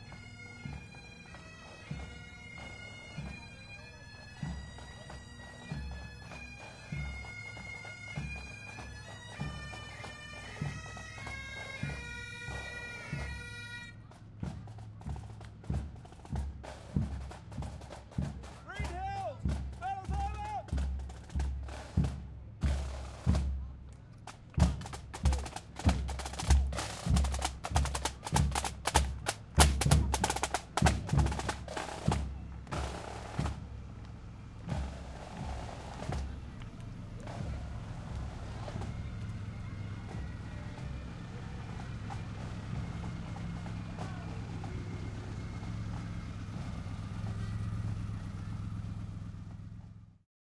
pipe band 0:00.0 - 0:49.6
hot rods 0:00.1 - 0:50.0

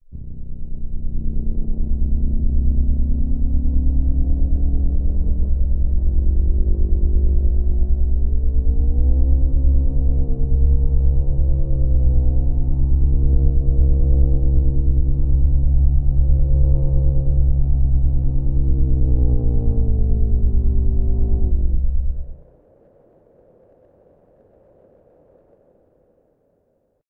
rover on mars 0:00.2 - 0:26.3

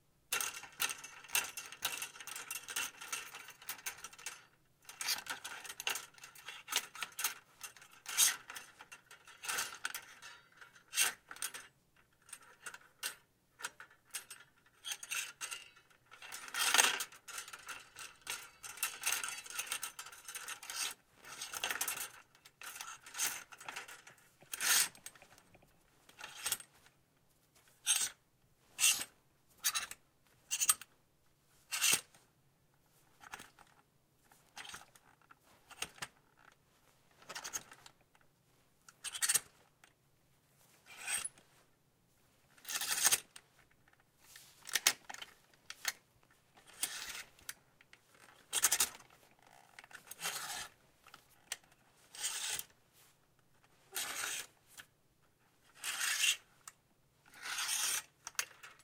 Hangers rattling and sliding 0:00.3 - 0:31.0
Hangers rattling and sliding 0:31.6 - 0:32.2
Hangers rattling and sliding 0:32.9 - 0:39.9
Hangers rattling and sliding 0:40.6 - 0:41.7
Hangers rattling and sliding 0:42.4 - 0:54.9
Hangers rattling and sliding 0:55.6 - 0:58.8

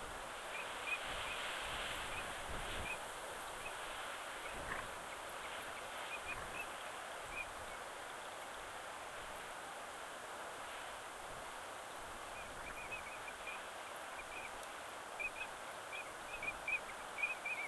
water 0:00.0 - 0:17.6
wind 0:00.0 - 0:17.6

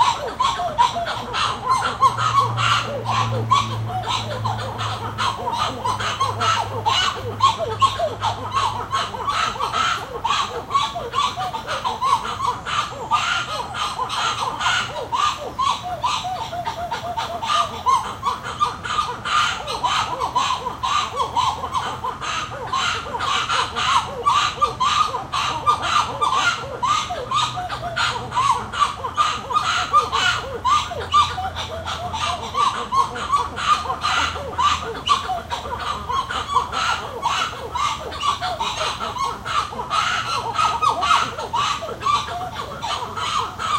White-eared Titi Monkeys calling 0:00.0 - 0:43.7
cicadas 0:00.0 - 0:43.7

